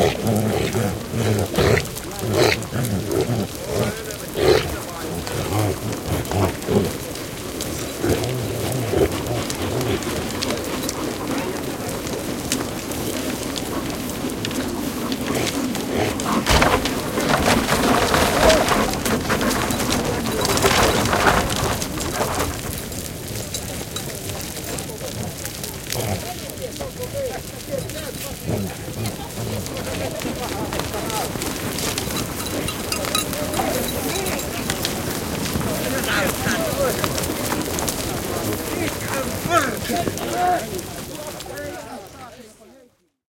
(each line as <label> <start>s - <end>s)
grunting 0.0s - 22.5s
herd of reindeer is driven into a churn 0.0s - 43.0s
human voices 0.0s - 43.2s
dog 8.0s - 12.6s
grunting 23.9s - 42.1s
bells 31.0s - 37.7s